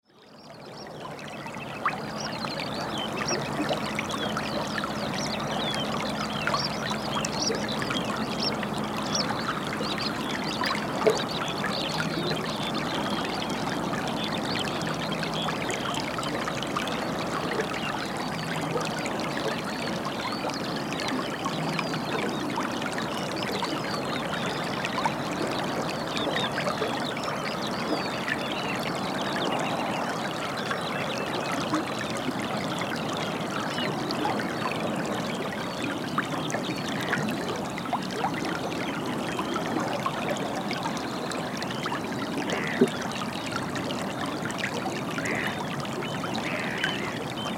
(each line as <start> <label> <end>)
0.2 background birds 15.9
0.2 Water flowing out of lagoon 47.5